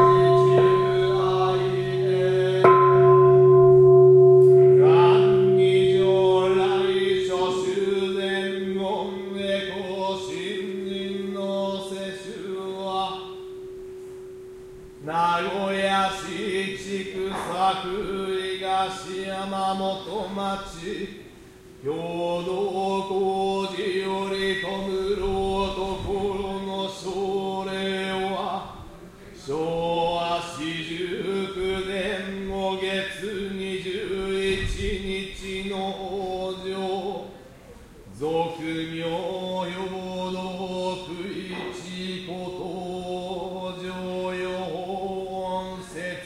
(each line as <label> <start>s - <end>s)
chanting 0.0s - 46.2s